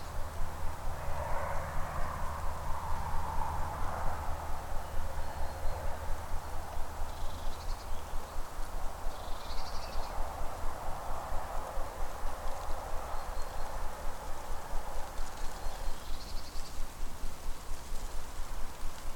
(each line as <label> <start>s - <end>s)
reverberations from cars passing by 0.0s - 7.4s
Rustling leaves 0.0s - 19.1s